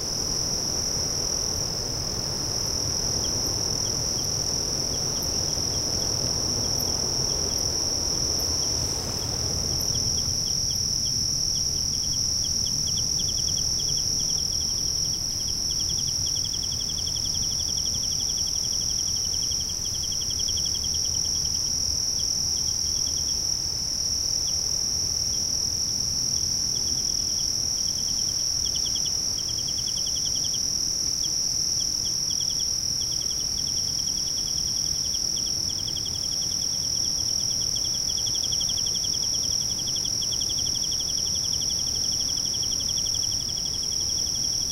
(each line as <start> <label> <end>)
0.0 crickets 44.7